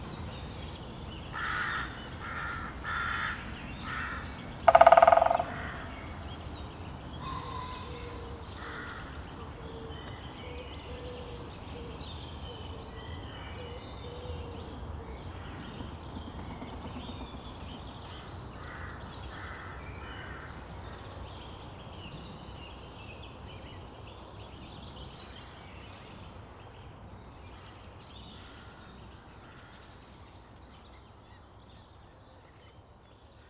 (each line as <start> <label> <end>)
1.3 Greater Spotted Woodpecker drumming 6.6
14.7 Greater Spotted Woodpecker drumming 20.4